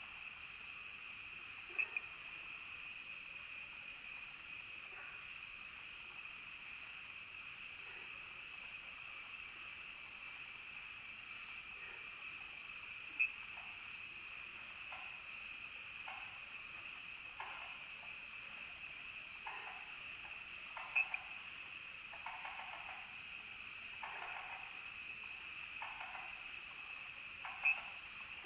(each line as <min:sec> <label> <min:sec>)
0:00.0 insects 0:28.4
0:19.3 Frogs chirping 0:28.4